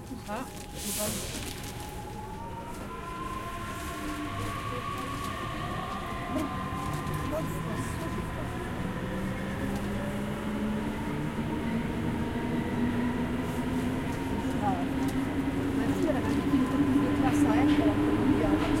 conversation on board 0.0 - 2.0
A train enters the station from right to left 0.0 - 18.8
conversation on board 4.6 - 8.9
conversation on board 14.4 - 18.8

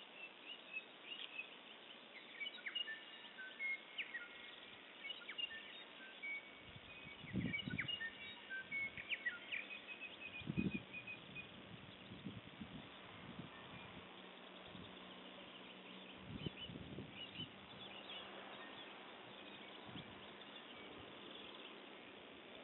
birdsong 0.0 - 22.6

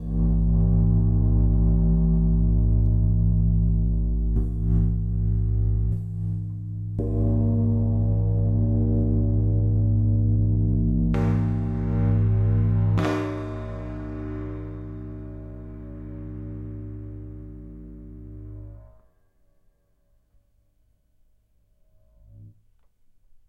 sustain sound of a cymbal 0.0 - 19.0

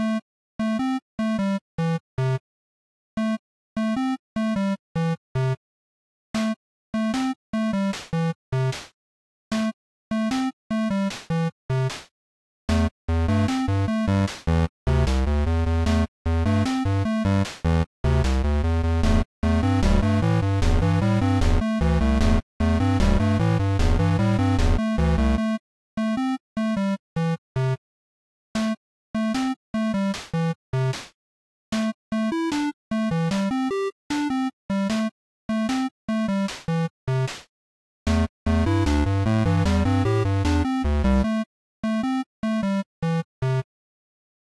Music 0.0 - 2.4
Music 3.2 - 5.6
Music 6.4 - 12.1
Music 12.7 - 27.8
Music 28.6 - 37.5
Music 38.1 - 43.7

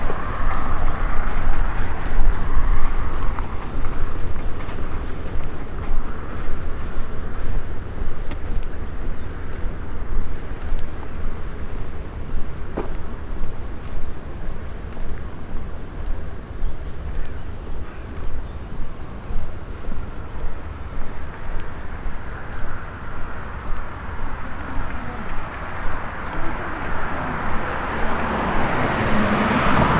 Walking though a market 0.0 - 29.9
people 23.9 - 29.9

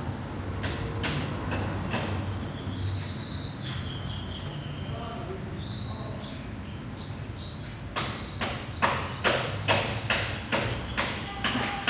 cars 0.0 - 11.8
birds 0.6 - 11.8
people talking 4.8 - 6.5
people talking 11.0 - 11.8

